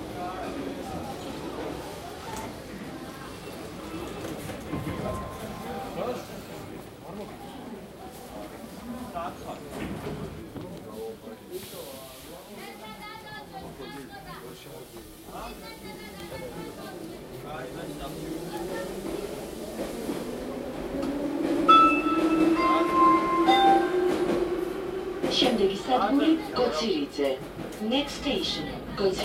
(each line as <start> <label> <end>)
0.0 metro 29.2
21.7 announcement 29.2